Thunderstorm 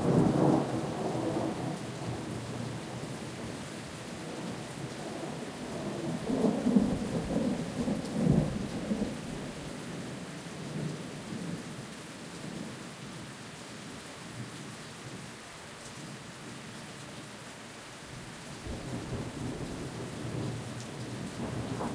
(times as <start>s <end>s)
4.4s 9.7s, 18.7s 21.9s